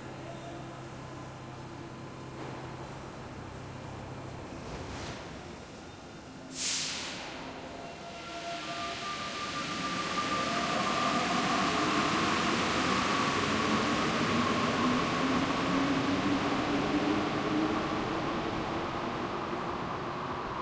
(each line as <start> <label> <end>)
0.0 Subway arriving at its station 20.6